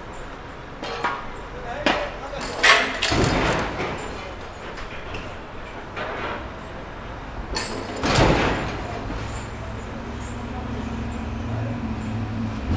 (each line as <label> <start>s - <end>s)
Press cars 1.9s - 9.8s